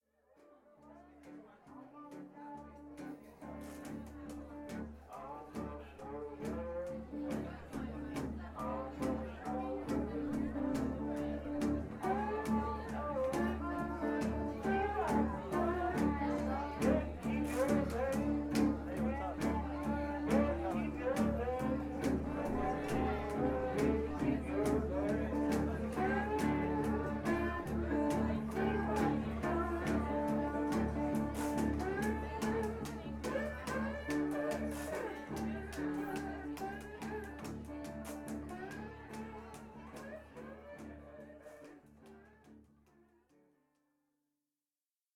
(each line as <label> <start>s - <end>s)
chatterers chatter 0.7s - 42.6s